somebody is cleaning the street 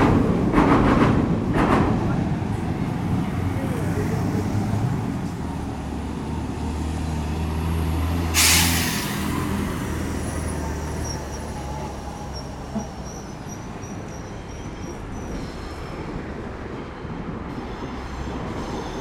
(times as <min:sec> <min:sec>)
0:08.4 0:09.9